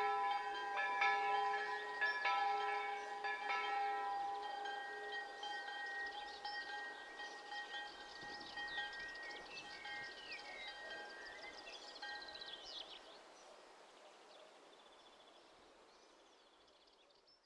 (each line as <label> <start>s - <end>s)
churchbells 0.0s - 12.8s